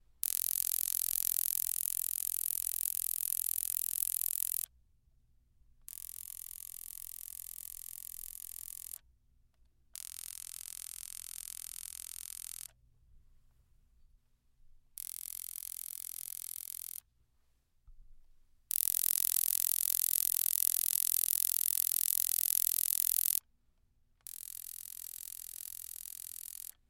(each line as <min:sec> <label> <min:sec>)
0:00.2 Electric Sparker 0:04.7
0:10.0 Electric Sparker 0:12.8
0:15.0 Electric Sparker 0:17.0
0:18.7 Electric Sparker 0:23.4
0:24.3 Electric Sparker 0:26.8